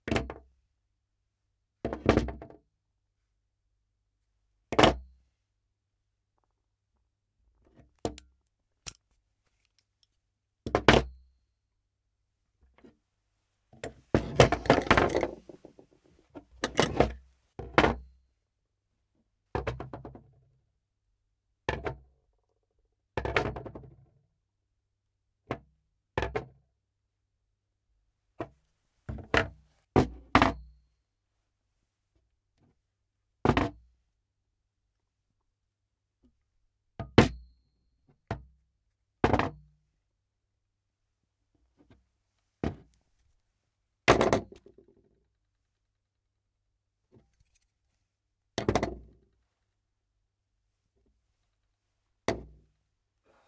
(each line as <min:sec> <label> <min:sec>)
0:14.2 TOOLS PLACED ON WOODEN SURFACE 0:15.9